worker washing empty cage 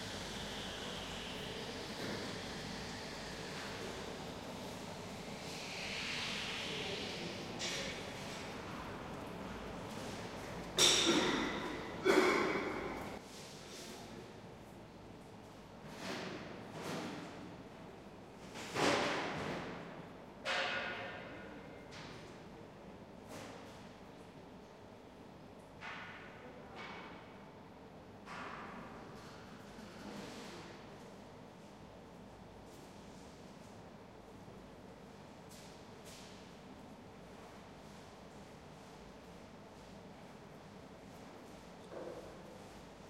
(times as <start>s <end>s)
0.0s 13.2s